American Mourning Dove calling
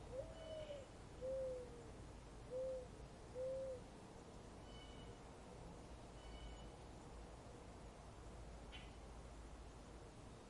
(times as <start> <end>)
0.0 4.0, 4.6 5.2, 6.1 6.8